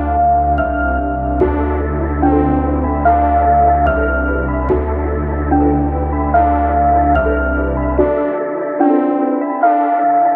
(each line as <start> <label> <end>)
0.0 music loop 10.3